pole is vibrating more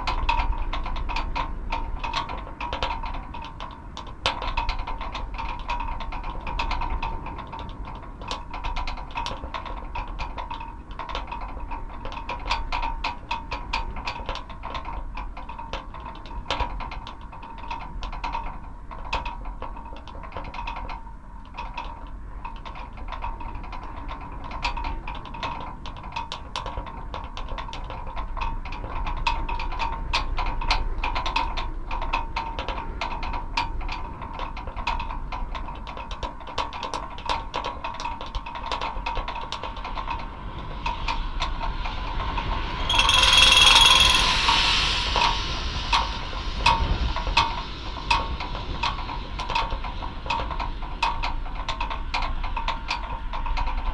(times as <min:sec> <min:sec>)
0:42.9 0:47.3